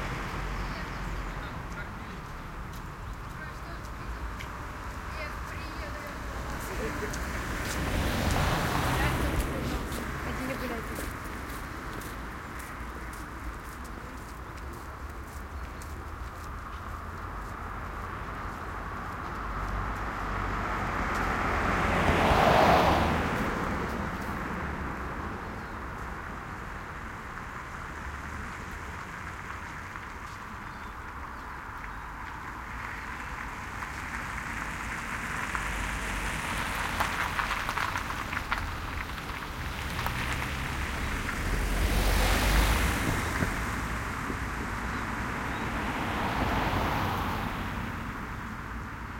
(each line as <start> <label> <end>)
0.0 Medium traffic 49.1